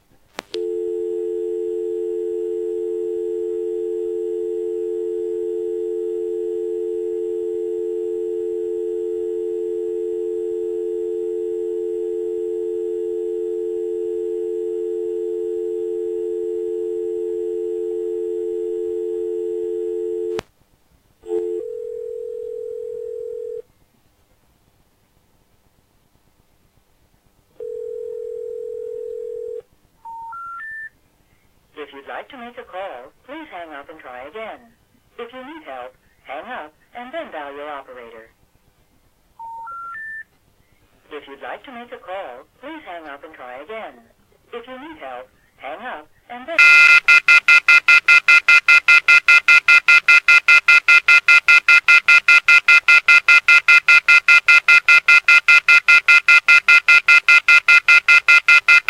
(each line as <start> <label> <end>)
0.6 dial tone 20.4
21.2 dial tone 23.6
27.6 dial tone 30.8
46.6 dial tone 58.8